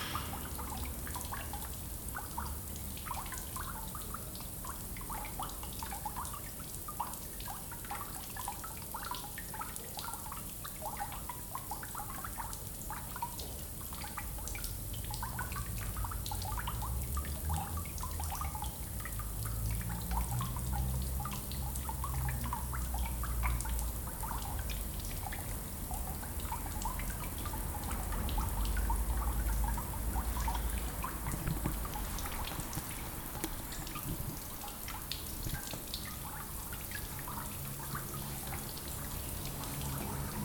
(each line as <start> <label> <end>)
29.6 leaking hose 36.0